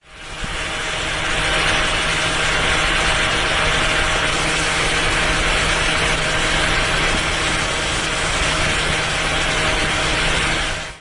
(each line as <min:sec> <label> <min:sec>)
0:00.0 fan 0:11.0